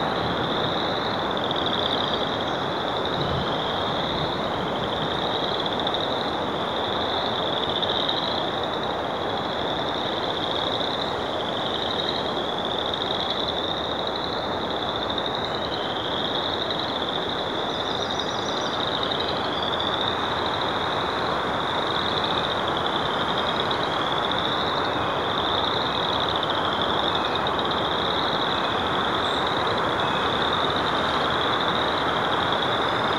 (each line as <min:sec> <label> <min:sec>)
0:00.0 very active frog pond 0:33.1